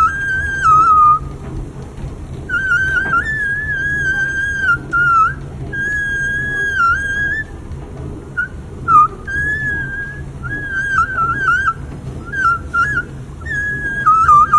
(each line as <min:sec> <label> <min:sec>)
0:00.0 Soloing escalator 0:14.5